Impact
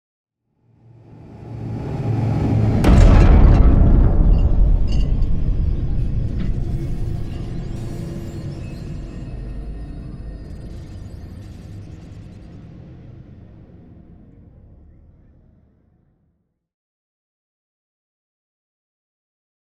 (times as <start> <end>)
1.0 9.5